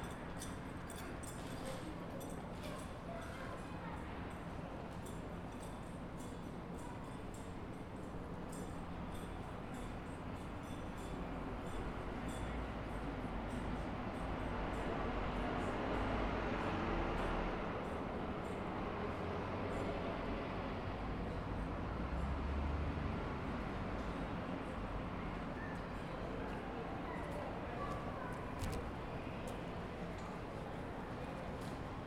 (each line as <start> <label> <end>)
0.0 footsteps/other sounds from pedestrians 32.0
4.0 traffic noise 32.0